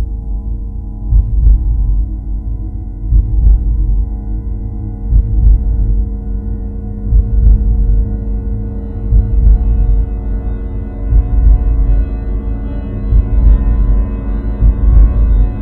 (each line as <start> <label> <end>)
0.0 really low bass distortion 15.6
1.1 heartbeat 2.2
3.1 heartbeat 4.2
5.0 heartbeat 6.1
7.0 heartbeat 12.2
13.1 heartbeat 15.6